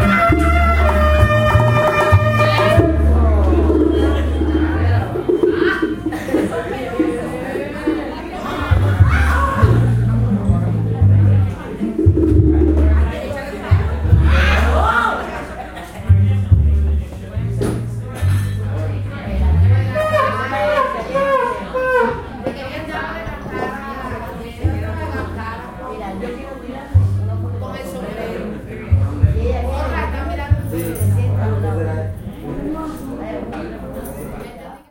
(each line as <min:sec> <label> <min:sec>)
0:00.0 band playing 0:14.8
0:00.0 people talking 0:34.9